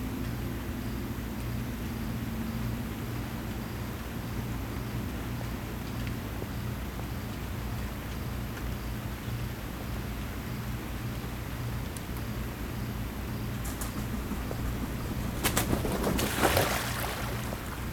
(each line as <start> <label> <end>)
11.8 Cicadas 17.9
13.5 ducks 17.9